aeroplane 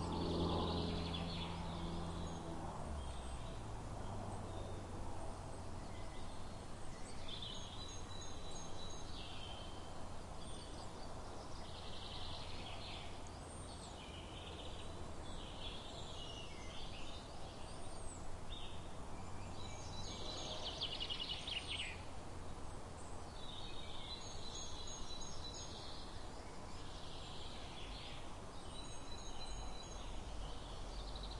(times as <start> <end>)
0.0 16.0